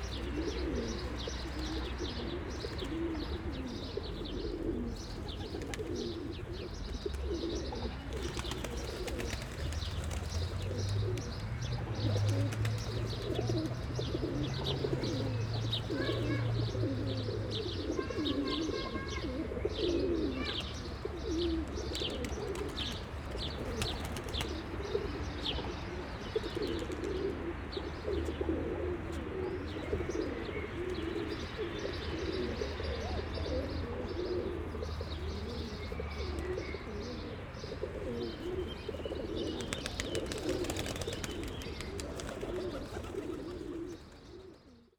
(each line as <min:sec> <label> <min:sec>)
0:00.0 pidgeons 0:44.9